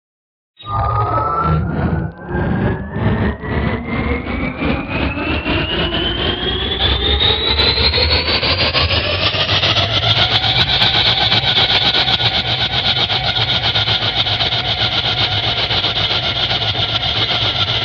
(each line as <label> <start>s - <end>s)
Engine revs up, runs for a bit, then cycles down 1.2s - 17.8s